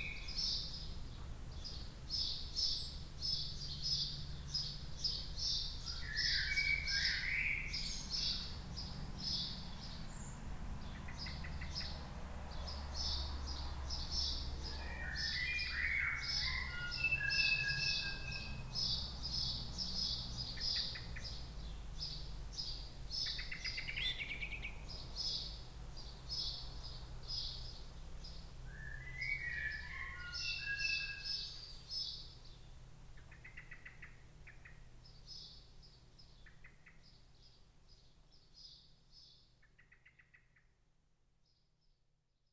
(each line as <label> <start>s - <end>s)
blackbirds 0.0s - 40.8s